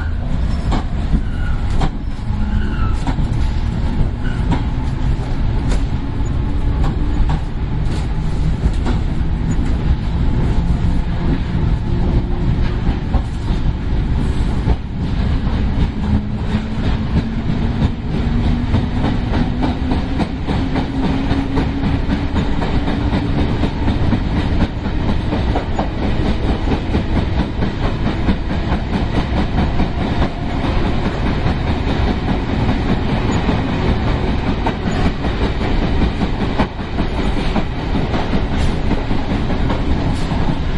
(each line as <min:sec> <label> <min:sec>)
0:00.0 train 0:40.7